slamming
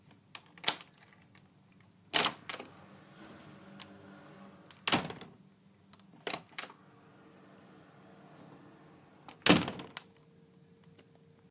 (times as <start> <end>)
2.2 5.4, 9.2 10.0